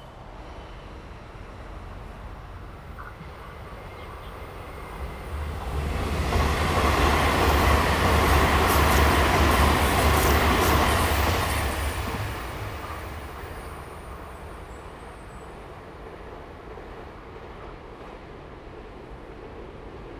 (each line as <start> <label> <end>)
0.0 train runs through 20.1
1.2 Bird call 14.5